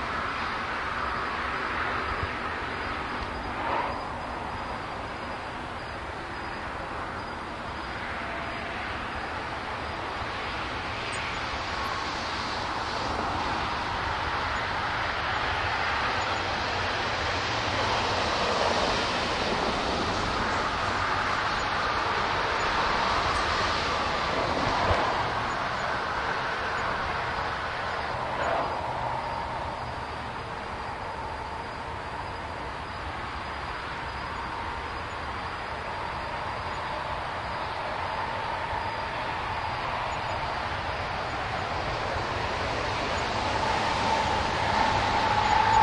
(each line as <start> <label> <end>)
0.0 traffic 45.8